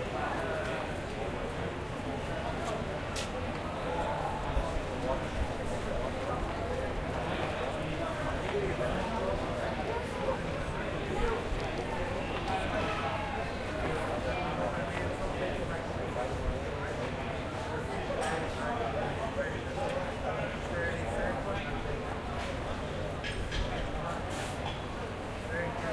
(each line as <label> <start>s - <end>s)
chatter 0.0s - 25.9s